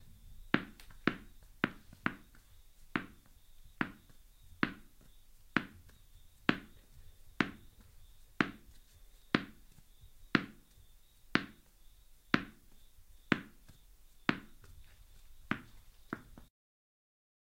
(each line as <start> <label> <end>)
0.6 Tennis ball bounce 2.4
3.0 Tennis ball bounce 6.8
7.4 Tennis ball bounce 7.8
8.4 Tennis ball bounce 8.8
9.4 Tennis ball bounce 9.6
10.4 Tennis ball bounce 10.7
11.4 Tennis ball bounce 11.7
12.4 Tennis ball bounce 14.7
15.5 Tennis ball bounce 16.5